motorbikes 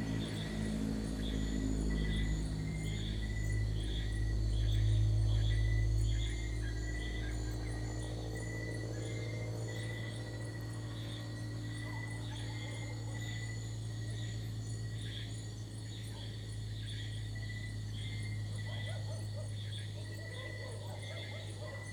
0:00.0 0:03.3

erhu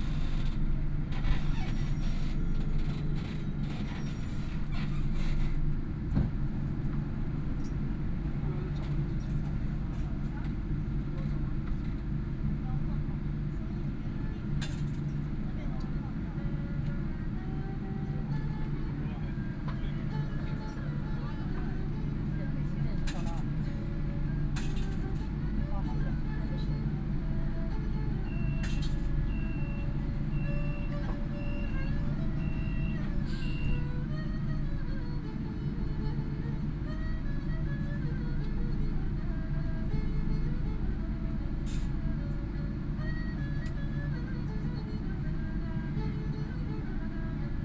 0:23.0 0:47.6

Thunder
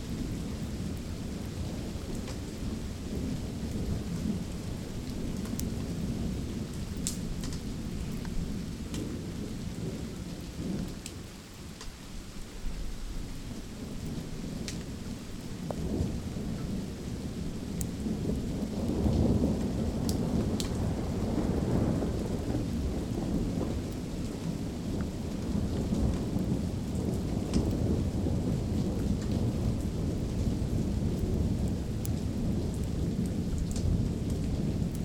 0:18.0 0:35.0

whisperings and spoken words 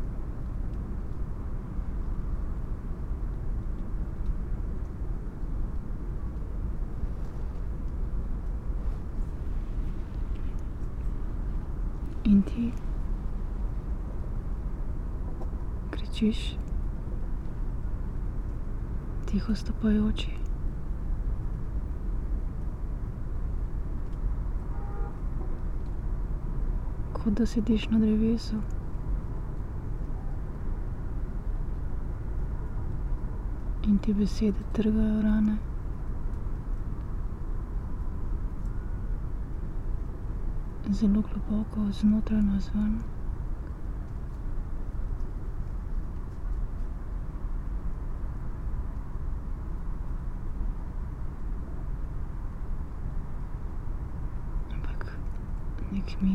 0:12.2 0:12.9, 0:16.0 0:16.6, 0:54.7 0:56.3

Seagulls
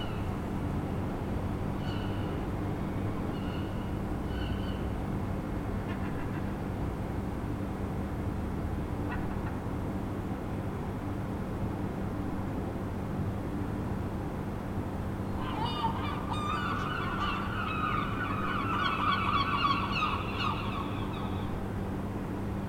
0:15.3 0:21.6

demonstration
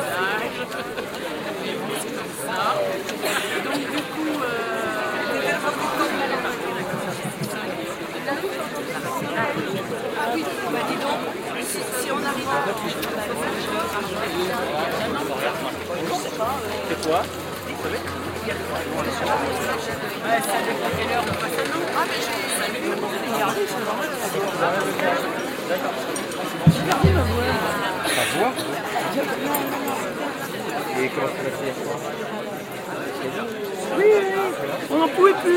0:26.7 0:28.3

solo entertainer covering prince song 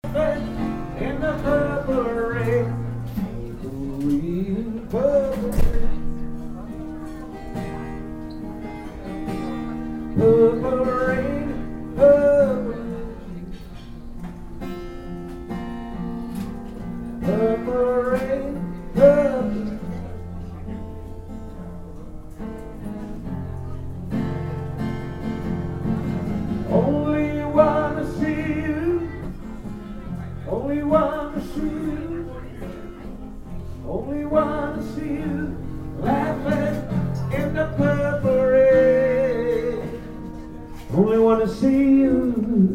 0:00.0 0:06.1, 0:26.6 0:42.7

